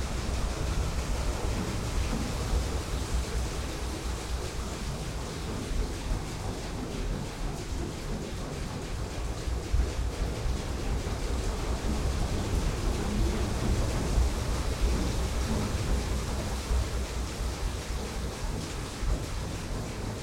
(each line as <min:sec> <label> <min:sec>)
0:00.0 waterwheel 0:20.2